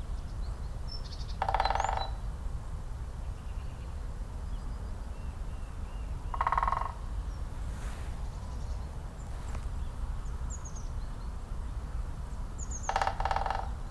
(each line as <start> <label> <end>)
1.1 Great Spotted Woodpecker 2.3
6.2 Great Spotted Woodpecker 7.5
12.6 Great Spotted Woodpecker 13.9